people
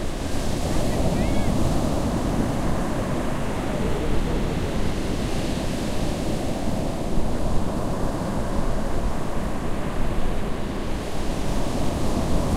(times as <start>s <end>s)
0.8s 1.6s, 3.5s 4.8s